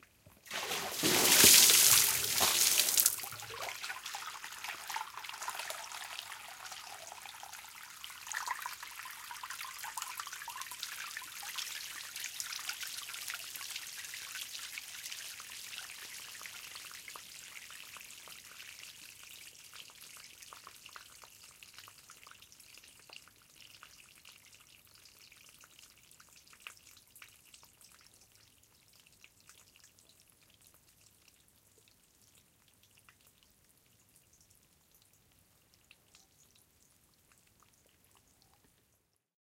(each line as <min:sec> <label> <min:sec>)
0:00.4 Throwing a large bowl of water down outdoor stone staircase 0:03.7